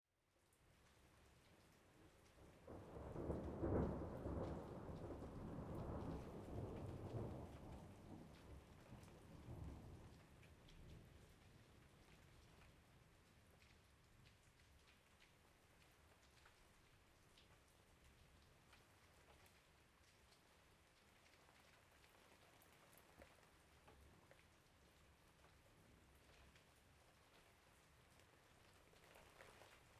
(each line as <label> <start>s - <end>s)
Rain 0.1s - 29.9s
Progressively louder thunderbolts 2.5s - 11.2s